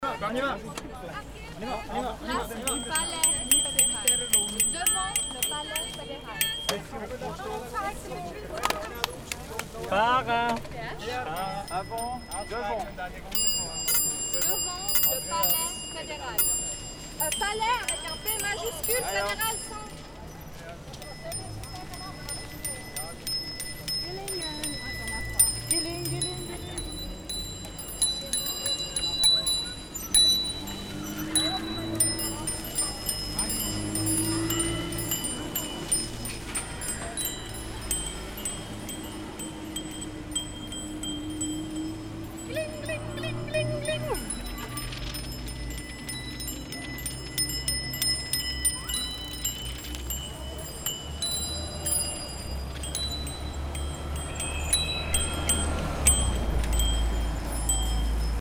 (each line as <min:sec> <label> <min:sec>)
0:01.5 activists bycicle 0:58.4